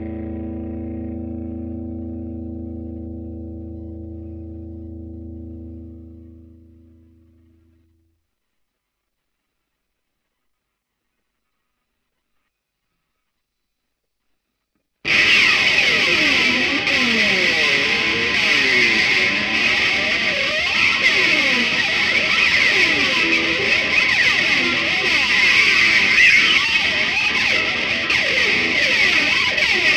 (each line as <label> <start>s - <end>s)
slides on an distorted electric guitar 0.0s - 7.9s
slides on an distorted electric guitar 15.1s - 29.9s